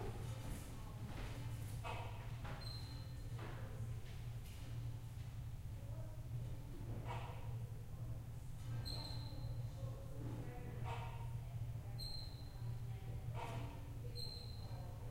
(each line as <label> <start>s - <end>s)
people walking through the gallery, across wooden floors 0.0s - 8.7s
quiet conversation 3.1s - 15.1s